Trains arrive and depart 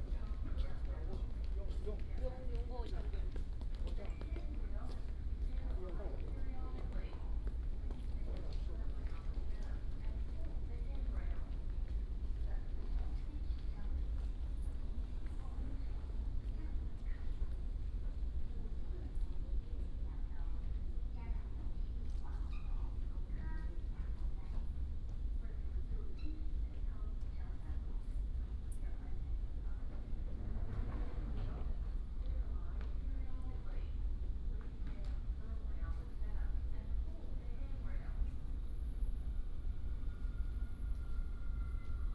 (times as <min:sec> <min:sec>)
0:38.4 0:42.1